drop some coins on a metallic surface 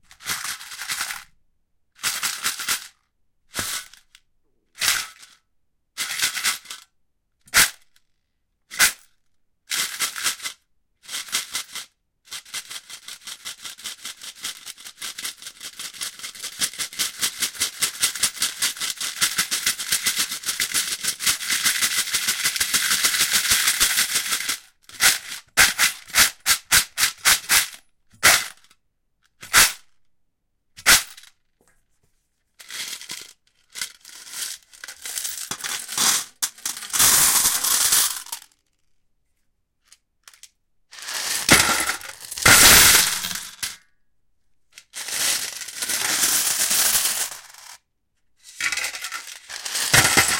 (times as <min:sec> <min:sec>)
0:32.7 0:38.5, 0:40.3 0:43.8, 0:45.8 0:47.8, 0:48.6 0:50.3